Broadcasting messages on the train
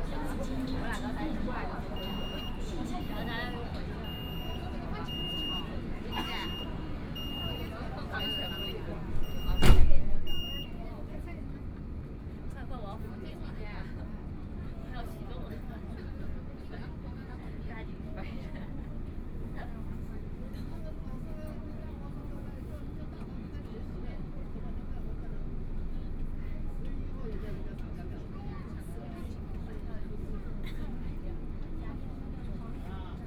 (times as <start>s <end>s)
0.0s 11.0s